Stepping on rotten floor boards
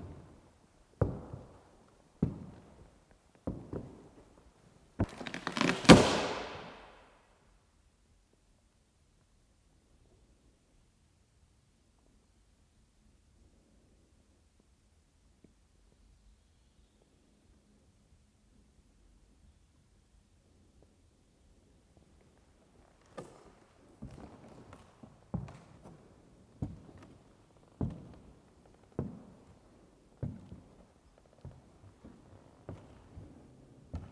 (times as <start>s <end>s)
0.0s 4.4s, 5.0s 6.9s, 22.9s 34.1s